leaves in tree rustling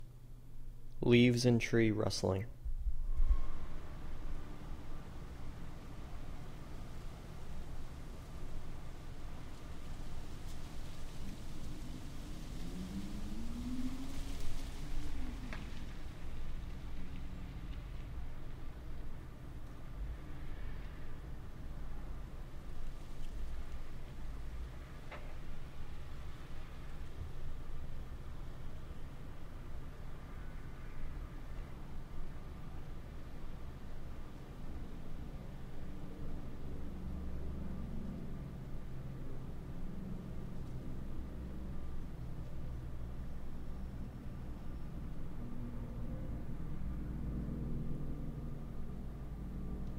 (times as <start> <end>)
3.2 19.2, 22.2 31.1